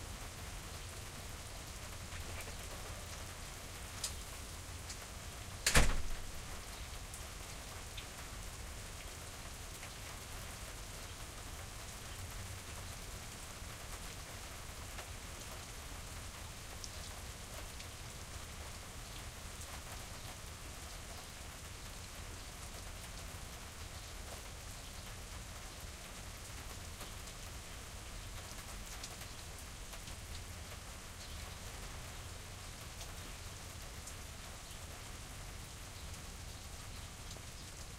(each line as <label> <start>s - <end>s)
Rain on a Country Porch 0.0s - 37.9s
porch door open/close 5.6s - 6.5s